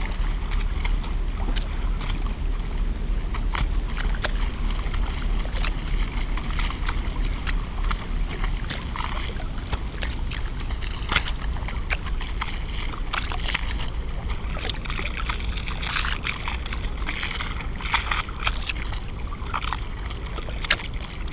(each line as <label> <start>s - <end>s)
ship passes-by 0.0s - 15.0s
lapping waves 0.0s - 21.3s